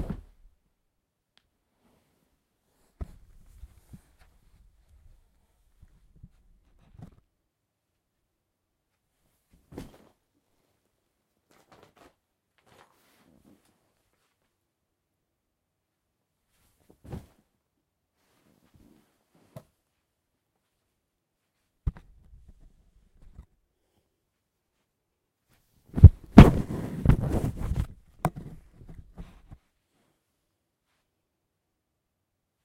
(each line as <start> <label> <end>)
26.0 Body Fall Drop Sit Down on Sofa Bed 27.9